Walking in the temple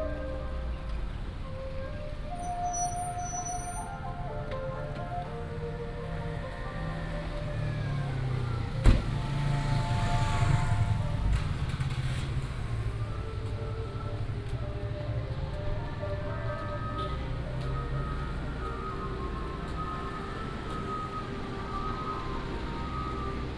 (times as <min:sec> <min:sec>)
0:10.2 0:23.5